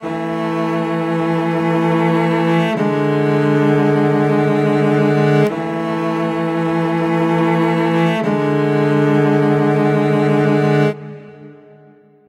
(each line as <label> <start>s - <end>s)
Two cellos playing two chords twice 0.0s - 12.0s